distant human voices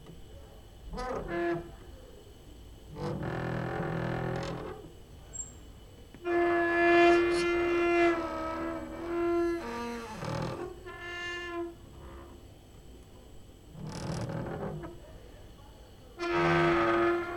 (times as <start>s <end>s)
14.4s 17.3s